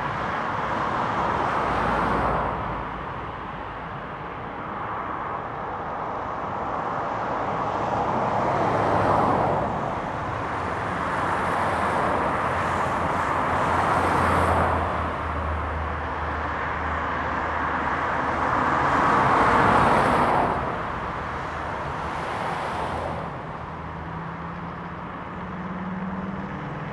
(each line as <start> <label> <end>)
0.0 cars passing below 26.9